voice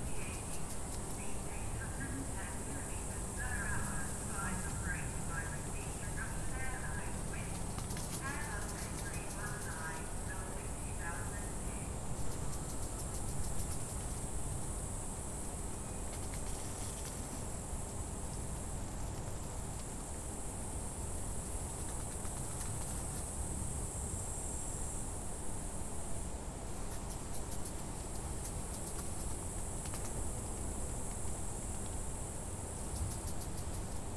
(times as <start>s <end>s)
0.0s 12.0s